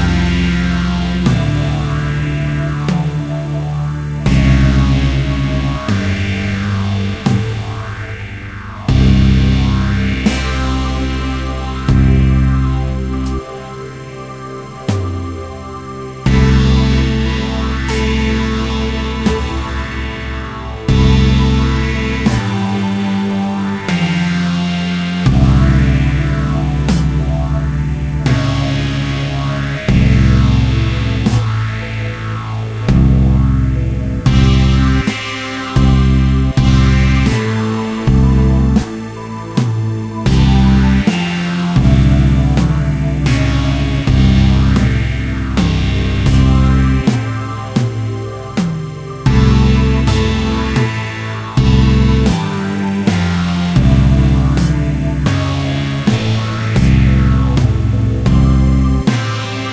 Drums 0.0 - 59.7
Synths 0.0 - 59.7

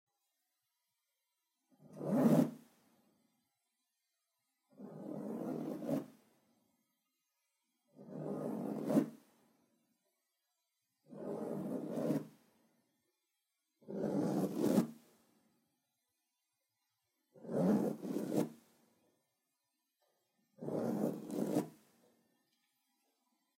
zipping clothes 1.8 - 2.7
zipping clothes 4.7 - 6.2
zipping clothes 8.0 - 9.3
zipping clothes 11.1 - 12.4
zipping clothes 13.8 - 15.1
zipping clothes 17.4 - 18.7
zipping clothes 20.6 - 21.9

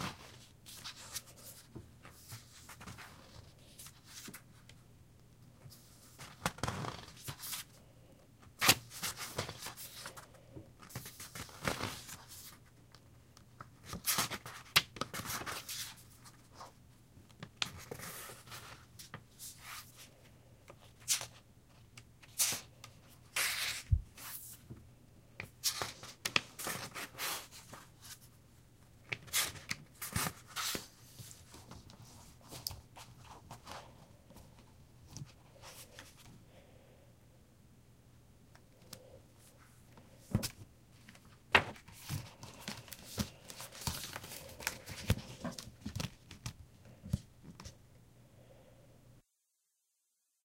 turning pages in book 0.0 - 4.8
turning pages in book 5.6 - 24.8
turning pages in book 25.4 - 28.4
turning pages in book 29.0 - 36.4
turning pages in book 38.6 - 47.8

